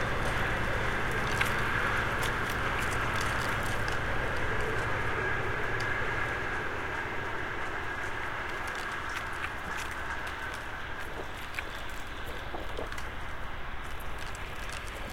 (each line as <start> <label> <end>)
0.0 Paper announcements on the wall rustle in the wind 15.1
3.6 train passes by 9.1